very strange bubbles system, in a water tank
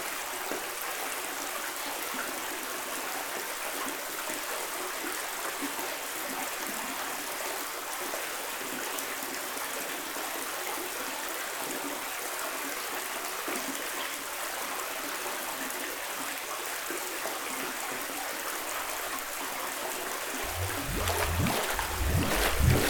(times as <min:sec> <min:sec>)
0:20.4 0:22.8